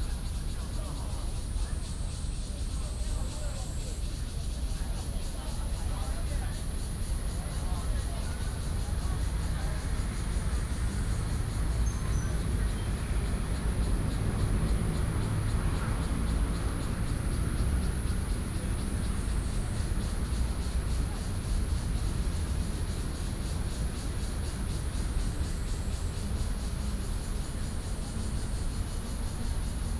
Cicadas cry 0.0 - 29.9
Traffic Sound 6.4 - 29.9

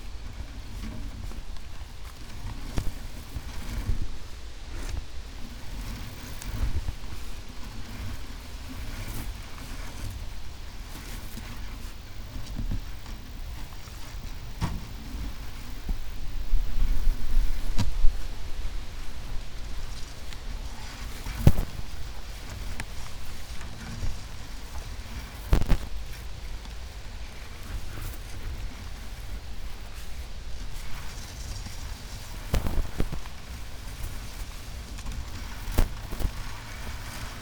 walking 0.0 - 37.4
string thing touching tall grass 10.9 - 37.4

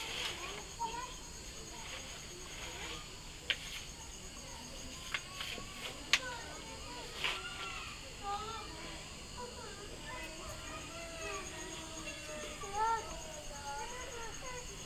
kids playing 0.0 - 14.8

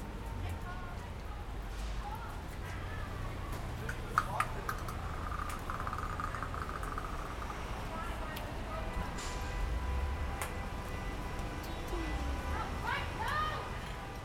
Street sounds 0.0 - 14.2
kids throwing bang snaps in the street 1.2 - 9.6

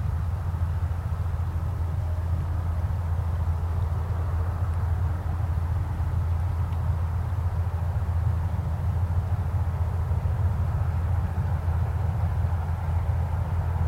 boat 0.0 - 13.8
distant traffic 0.0 - 13.8

